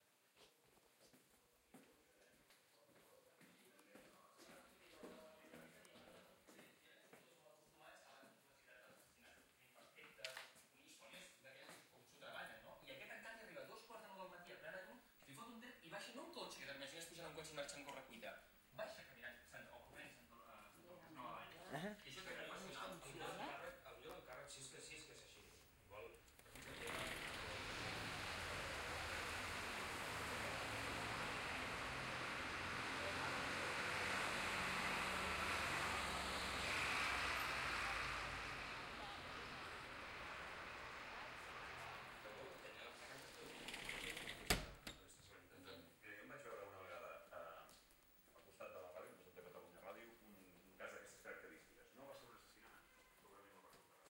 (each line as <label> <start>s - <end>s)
me at my house walking 0.0s - 7.4s
tv 9.8s - 54.0s
closing door 26.4s - 31.8s
traffic noise 26.4s - 43.9s
bus 26.6s - 43.1s
closing door 43.0s - 45.0s